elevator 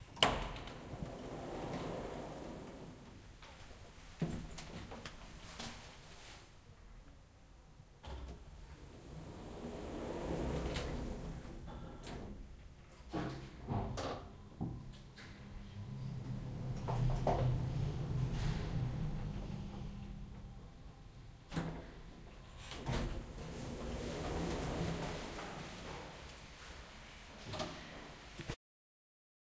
0:00.2 0:03.7, 0:08.4 0:12.4, 0:15.0 0:26.7

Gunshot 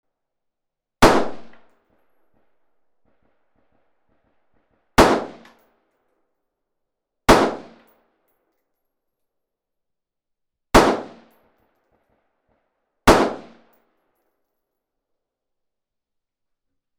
0:01.0 0:01.7, 0:04.4 0:05.6, 0:07.3 0:07.9, 0:10.8 0:11.4, 0:13.1 0:13.7

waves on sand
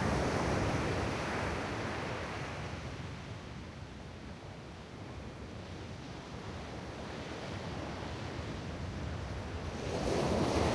0:09.2 0:10.7

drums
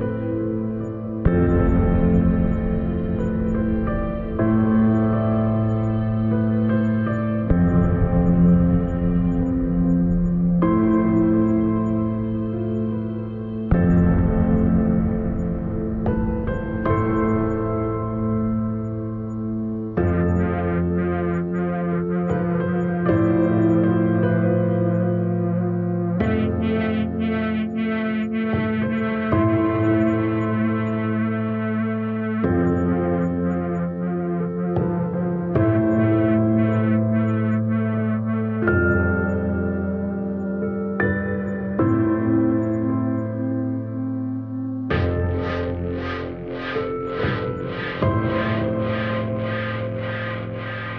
0:44.9 0:50.9

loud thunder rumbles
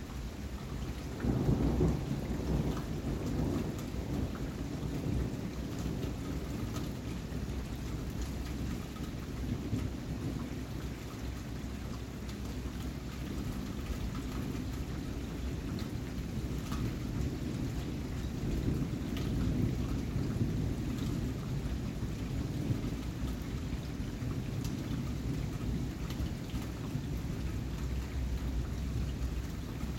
0:01.2 0:06.6, 0:14.4 0:29.9

